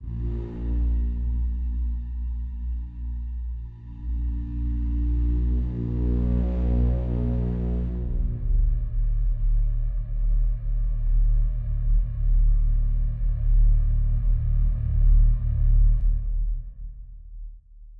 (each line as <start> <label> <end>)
5.3 War Horn 8.4